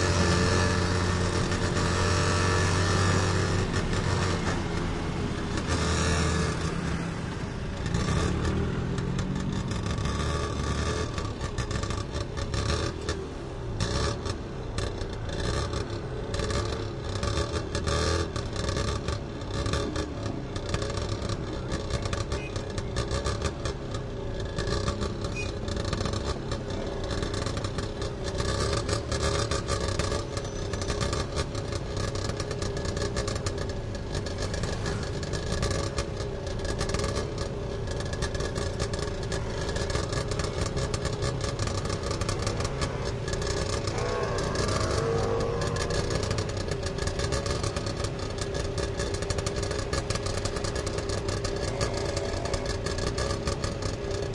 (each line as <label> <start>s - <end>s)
traffic 0.0s - 54.3s
tuk tuk motorcycle taxi 0.0s - 54.3s